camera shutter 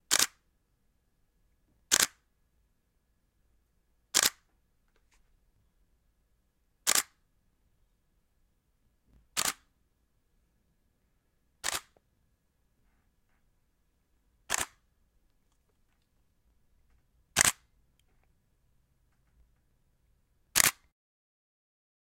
0.1s 0.4s, 1.9s 2.2s, 4.2s 4.5s, 6.8s 7.2s, 9.3s 9.7s, 11.6s 12.0s, 14.5s 14.8s, 17.4s 17.7s, 20.5s 20.9s

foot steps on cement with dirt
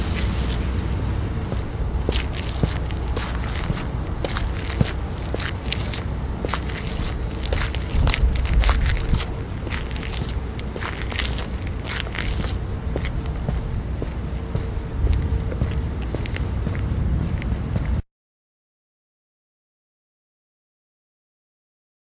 1.4s 18.0s

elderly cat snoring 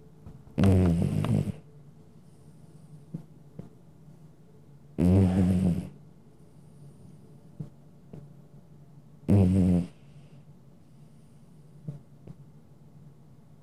0.6s 1.6s, 5.0s 6.0s, 9.3s 10.4s

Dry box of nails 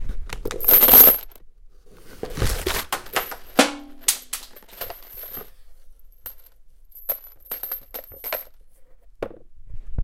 2.3s 5.5s

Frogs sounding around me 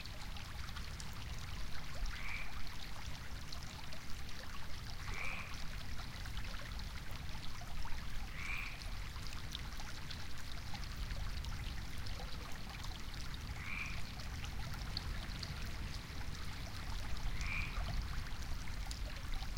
2.1s 2.7s, 5.0s 5.7s, 8.2s 9.0s, 13.6s 14.1s, 17.2s 18.0s

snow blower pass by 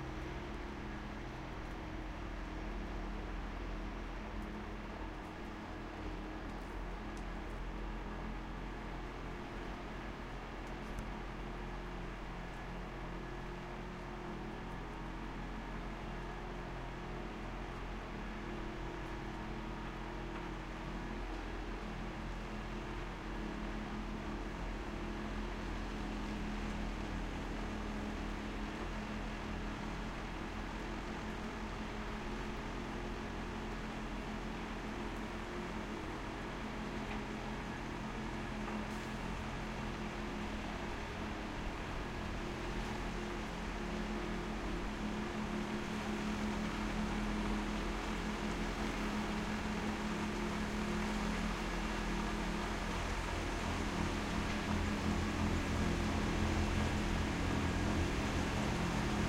48.2s 59.2s

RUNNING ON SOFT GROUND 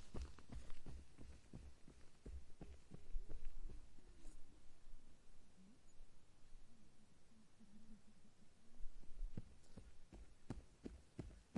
0.0s 4.8s, 8.9s 11.5s

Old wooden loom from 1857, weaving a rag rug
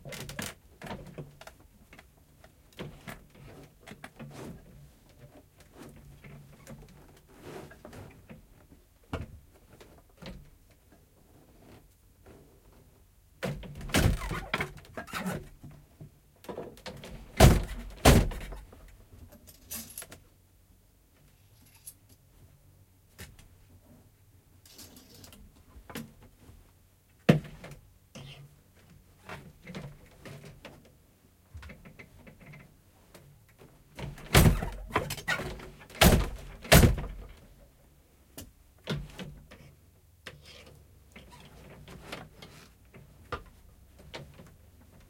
24.6s 45.0s

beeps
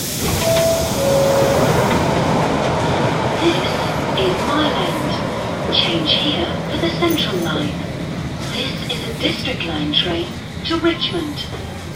0.4s 1.7s

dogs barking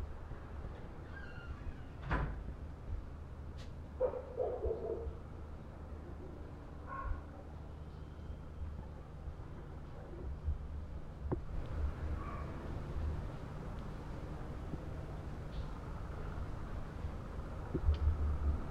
4.0s 5.2s, 6.9s 7.3s, 12.2s 12.6s

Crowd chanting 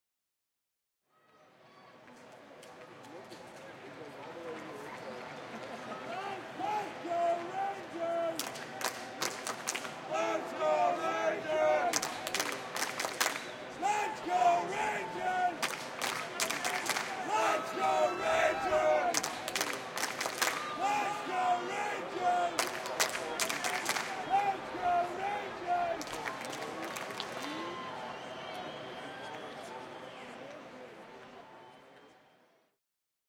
5.9s 30.3s

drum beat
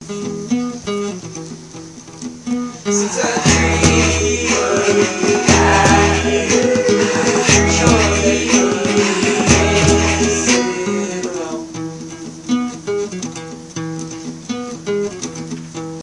3.0s 10.9s

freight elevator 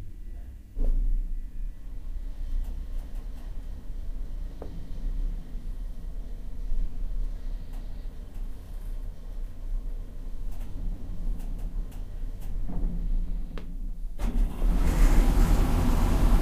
14.2s 16.4s

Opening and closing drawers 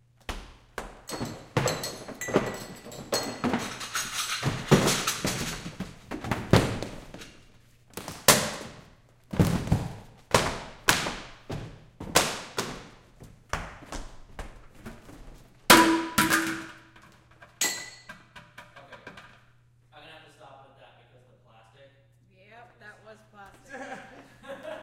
1.1s 7.4s

